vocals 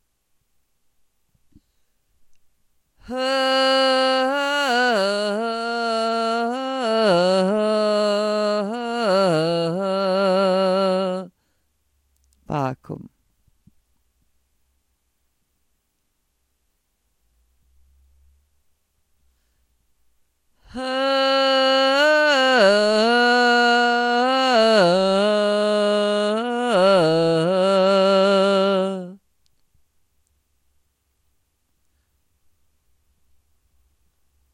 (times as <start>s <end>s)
3.0s 11.4s, 12.2s 13.8s, 20.6s 29.6s